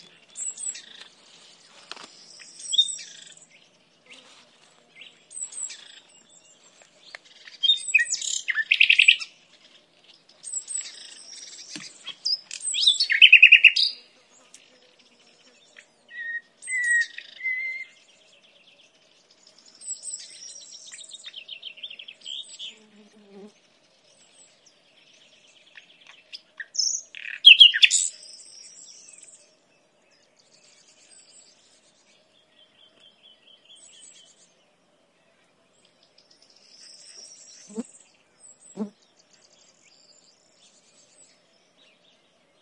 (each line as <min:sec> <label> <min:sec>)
0:00.0 Nightingale singing 0:04.3
0:05.0 Nightingale singing 0:23.5
0:24.2 Nightingale singing 0:34.6